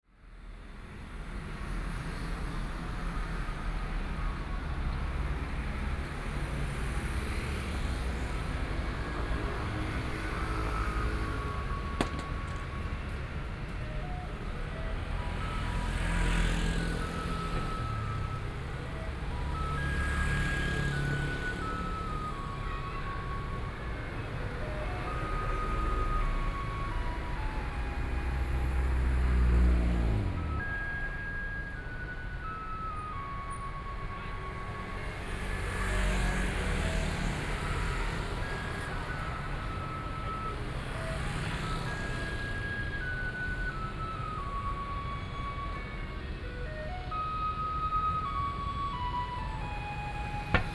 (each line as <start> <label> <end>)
0.1 Traffic Sound 50.7
9.5 Garbage truck music 50.7
48.3 Walking on the road 50.7